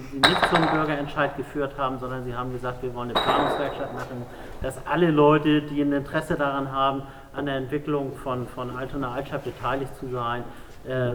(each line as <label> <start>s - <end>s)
Publikumsdiskussion 0.0s - 6.6s